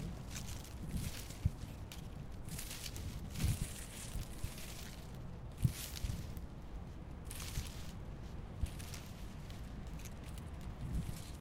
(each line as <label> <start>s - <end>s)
movement of the leafs 0.0s - 11.4s